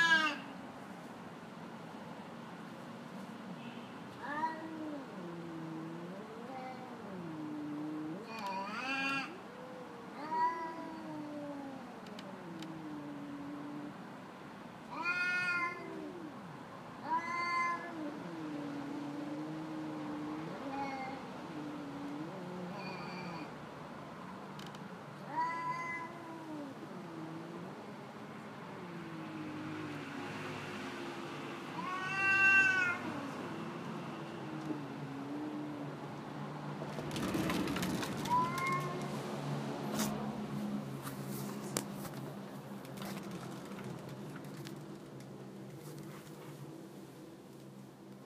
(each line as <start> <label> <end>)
0.0 cats having an argument 0.6
4.1 cats having an argument 23.6
24.9 cats having an argument 30.5
31.6 cats having an argument 40.4